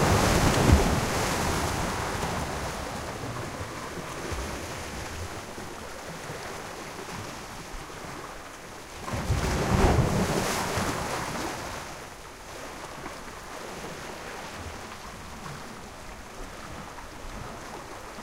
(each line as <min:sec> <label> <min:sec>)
0:00.0 rocky shore break 0:03.2